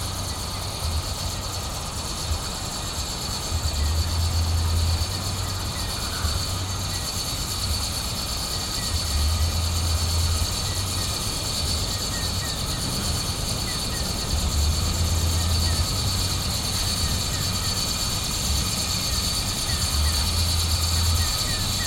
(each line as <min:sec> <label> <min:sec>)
0:00.0 power line 0:21.8
0:00.0 rumbling bass beat 0:21.8